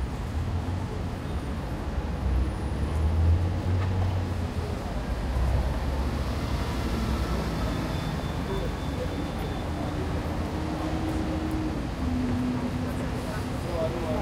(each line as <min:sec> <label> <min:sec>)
0:00.0 bus 0:14.2
0:00.0 cars 0:14.2
0:00.0 trucks 0:14.2
0:07.7 people 0:14.2